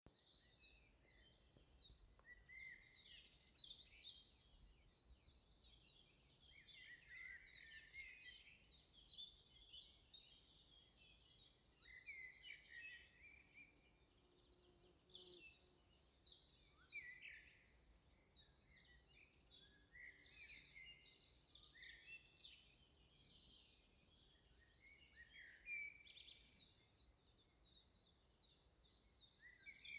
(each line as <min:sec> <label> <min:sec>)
0:00.1 birds 0:29.9
0:00.2 crickets 0:29.9
0:12.5 bee 0:17.5